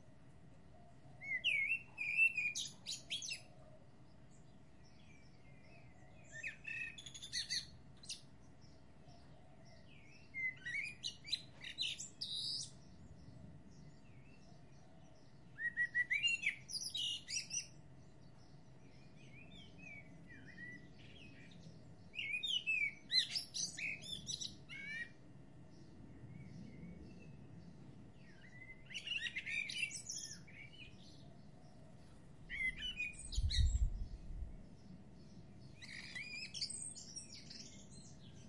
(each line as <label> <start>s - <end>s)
birdsong 0.0s - 38.4s